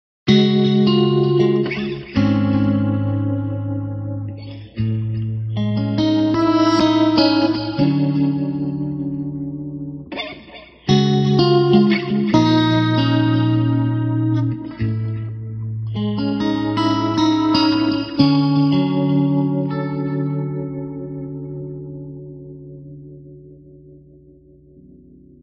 0.3s chords 25.4s

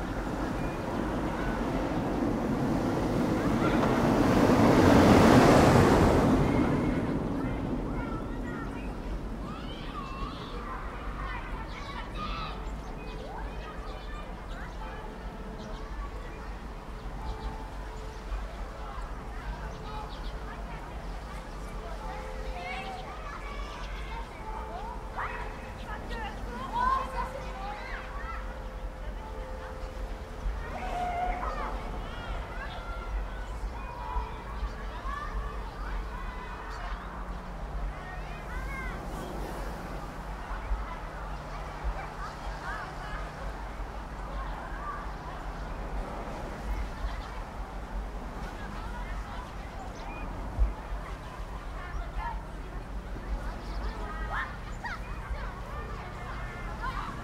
0.0s trucks 12.6s
0.0s children 57.2s

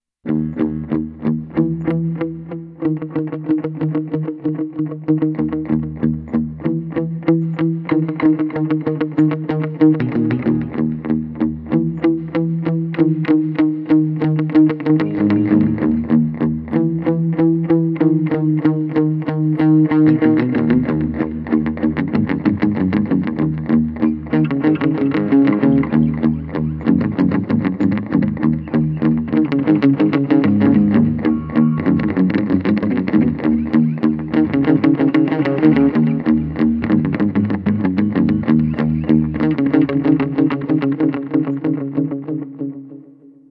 0.0s guitar 43.5s

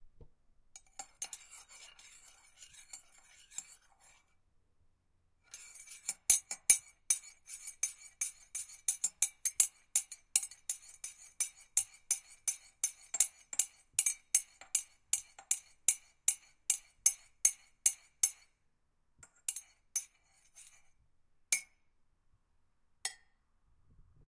0.8s stirring a cup with no water in it 4.4s
5.5s stirring a cup with no water in it 18.6s
19.2s stirring a cup with no water in it 21.0s

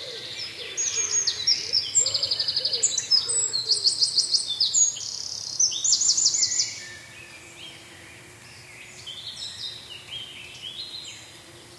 0.0s Forest birds singing 11.7s

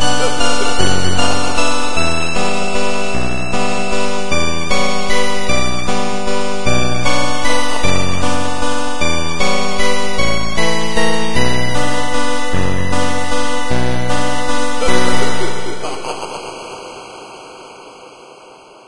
0.0s Halloween 8-bit 8.2s
9.0s Halloween 8-bit 18.8s

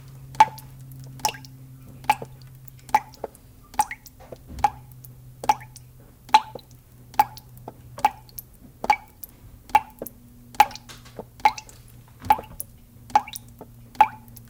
0.0s Water Driping 14.4s
0.0s toilet 14.4s
10.6s Shower Water Running 14.4s

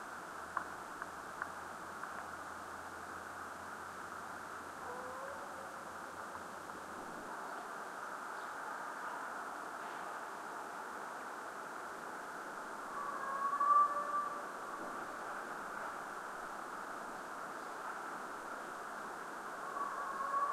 4.8s hound that you hear was separated from the pack 5.8s
13.0s hound that you hear was separated from the pack 14.4s

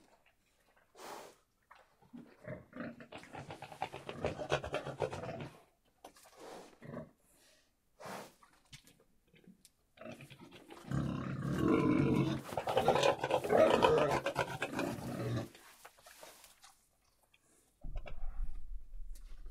0.0s pigs making noises in their pen 19.5s

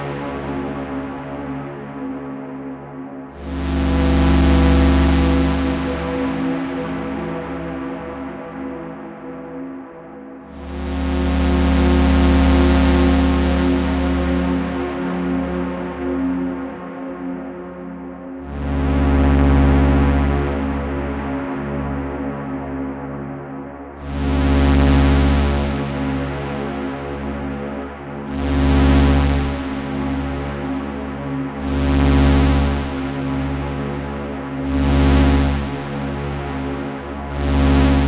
3.2s Pulsing Analog Drone 22.7s
24.0s Pulsing Analog Drone 38.0s

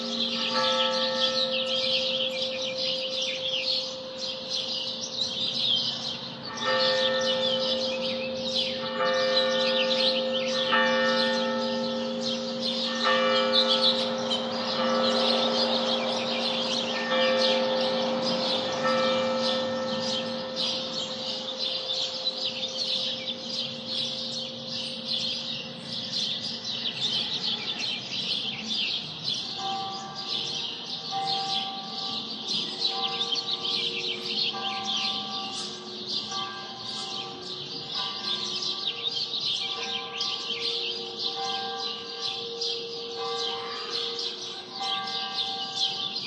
0.0s ambient urban roar 46.2s
0.0s church bells 46.2s
0.0s exuberant birdsong 46.2s
14.0s car passes 21.0s

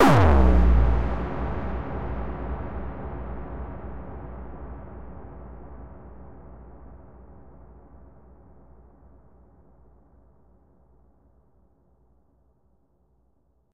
0.0s bassdrum 2.7s

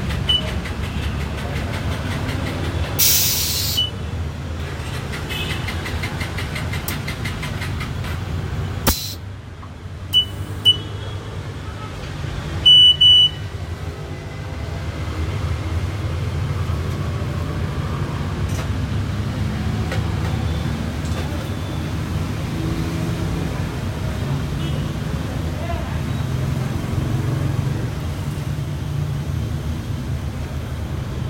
3.0s air pump 3.9s
8.9s air pump 9.2s

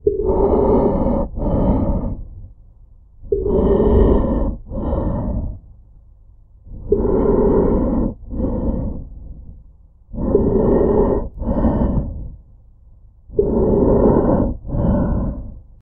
0.0s Mask Breathing 2.6s
3.2s Mask Breathing 5.8s
6.6s Mask Breathing 15.8s

